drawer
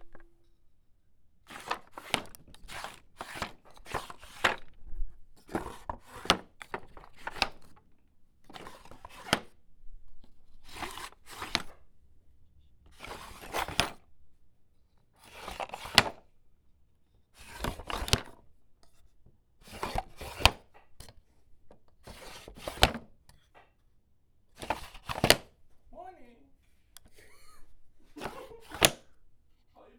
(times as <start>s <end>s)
1.5s 4.8s, 10.7s 11.8s, 12.9s 14.0s, 17.4s 18.4s, 19.6s 23.6s, 24.6s 25.6s, 28.1s 29.2s